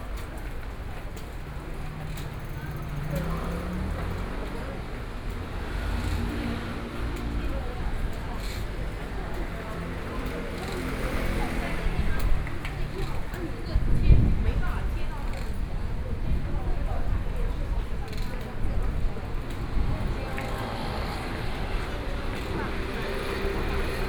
Various shops sound 0.0 - 14.0
Traffic Sound 0.0 - 16.3
Various shops sound 17.0 - 24.0
Traffic Sound 17.0 - 24.0

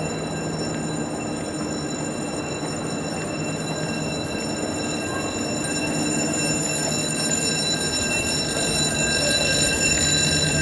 train leaving the station 0.0 - 10.6

